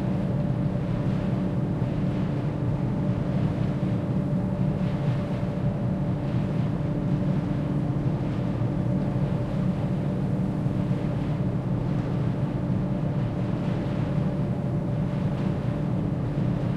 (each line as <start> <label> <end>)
0.0 Ventilation engine of a ferry boat 16.7